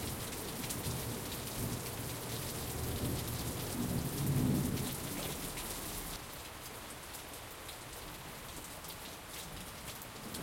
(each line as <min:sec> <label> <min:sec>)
0:00.0 rain 0:10.4